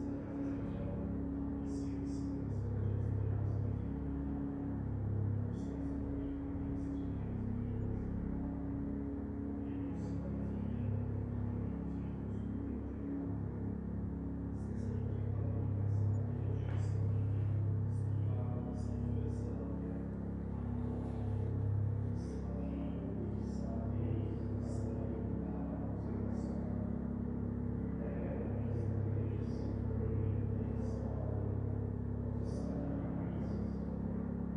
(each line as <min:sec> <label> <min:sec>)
0:00.0 engine noise in the background 0:34.5
0:00.0 small rural church mass 0:34.5
0:00.0 voices 0:34.5